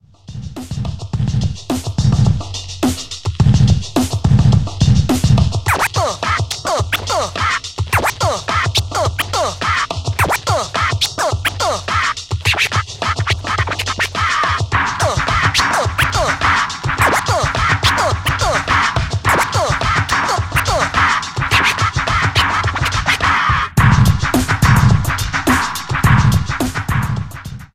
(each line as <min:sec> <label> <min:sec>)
0:00.3 beat 0:27.7
0:05.1 scratching 0:26.9